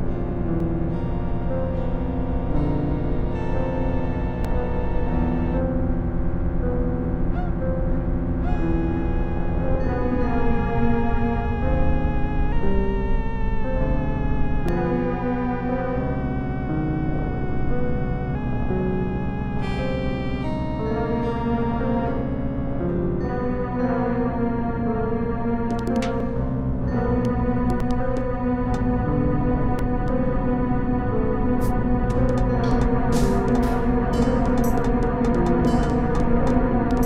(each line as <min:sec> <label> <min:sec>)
0:00.0 Korg NSR5 synthesizer 0:37.0